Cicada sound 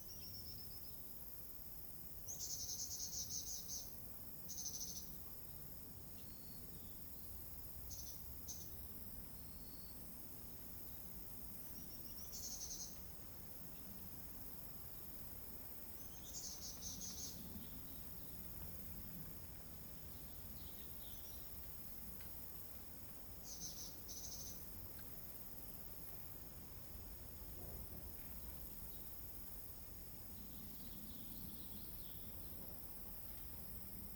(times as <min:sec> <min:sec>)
0:11.7 0:13.4, 0:23.2 0:27.3